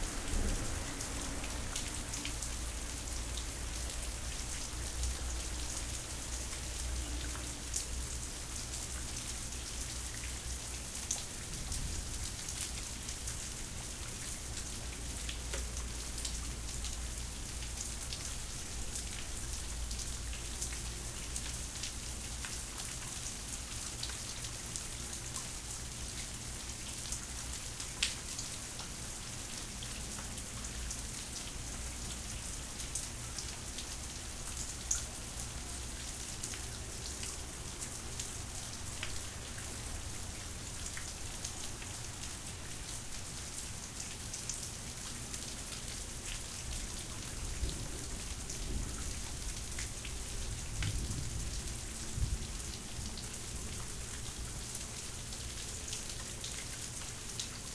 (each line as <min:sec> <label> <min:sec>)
0:00.0 rain 0:57.7
0:50.8 thunder 0:52.5